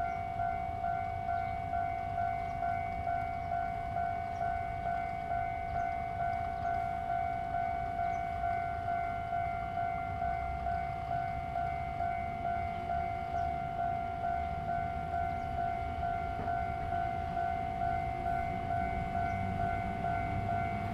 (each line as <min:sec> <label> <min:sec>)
0:00.0 Train traveling through 0:20.9
0:14.4 Traffic Sound 0:20.9